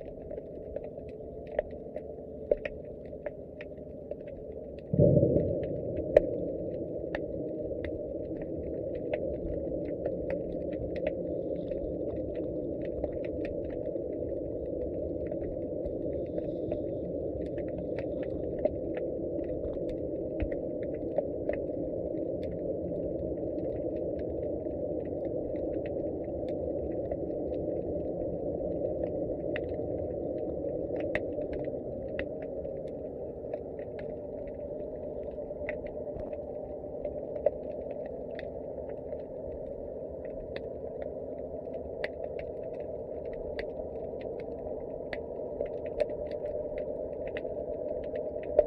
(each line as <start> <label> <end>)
4.9 haunting sound 8.2